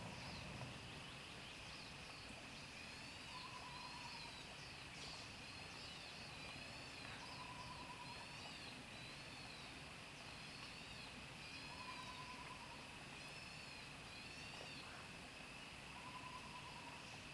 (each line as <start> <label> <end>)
6.2 insects 17.3